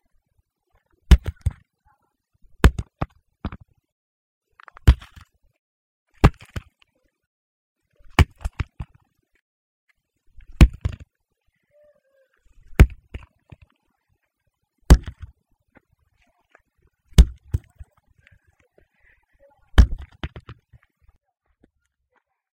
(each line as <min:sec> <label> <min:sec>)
0:10.5 large concrete block hitting the ground with a thump 0:11.0
0:14.9 large concrete block hitting the ground with a thump 0:15.3
0:17.1 large concrete block hitting the ground with a thump 0:17.7
0:19.8 large concrete block hitting the ground with a thump 0:20.6